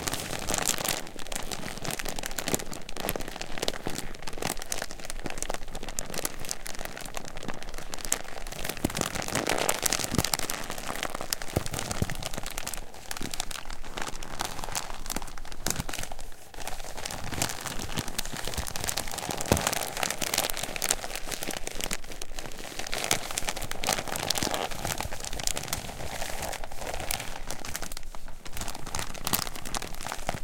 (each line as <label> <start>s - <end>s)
Plastic bag 0.0s - 30.4s